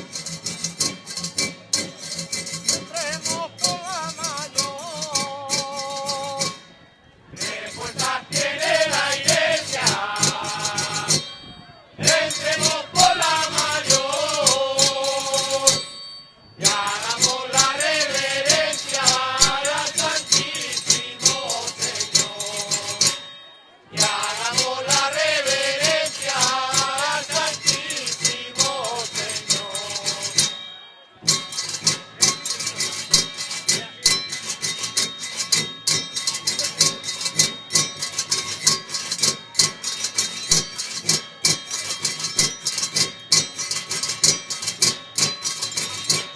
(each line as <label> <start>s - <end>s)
zambomba 0.0s - 46.3s
voz 7.4s - 16.0s
calderillo 7.4s - 23.4s
tray 12.0s - 46.3s
voz 16.6s - 30.8s
calderillo 24.0s - 46.3s